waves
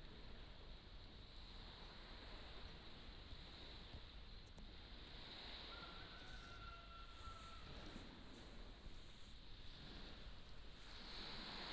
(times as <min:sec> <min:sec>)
0:10.8 0:11.7